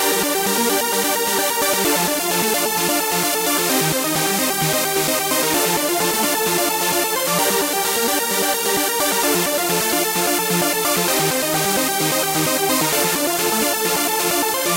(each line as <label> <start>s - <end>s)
bass 0.0s - 14.7s
strings 0.0s - 14.7s
synth 0.0s - 14.7s